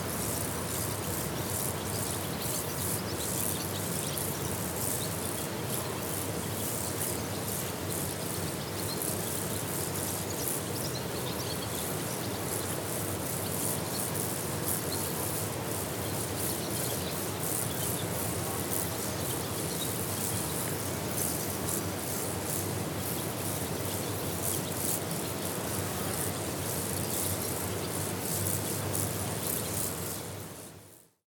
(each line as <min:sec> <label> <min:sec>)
0:00.0 insects 0:31.2